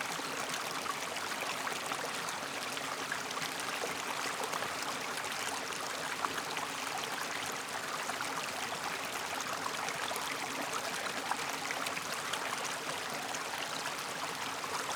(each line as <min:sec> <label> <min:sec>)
0:00.0 stream winds its way to a small stone bridge 0:14.9